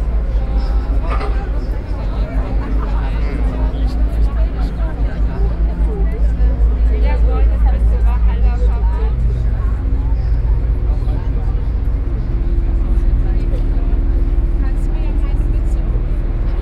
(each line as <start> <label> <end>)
0.0 Boat 16.6